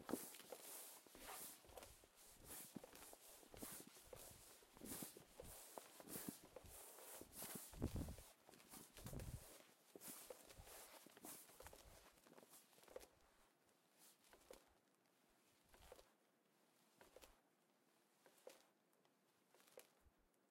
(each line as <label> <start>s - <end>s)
Canvas flapping against itself 7.5s - 8.2s